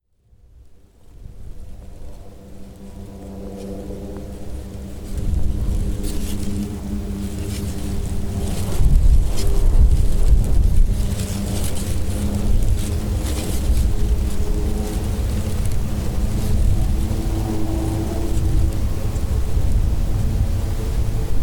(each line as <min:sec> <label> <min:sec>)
0:00.2 Wind and dry vegatation 0:21.4